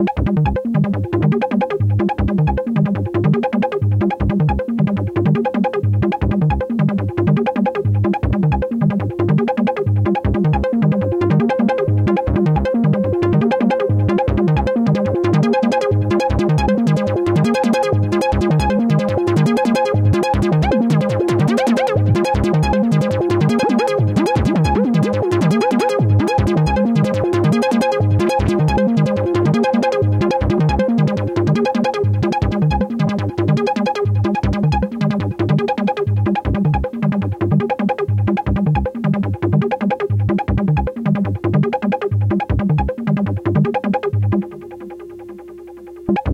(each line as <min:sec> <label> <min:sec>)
0:43.6 Square tone pattern 0:46.3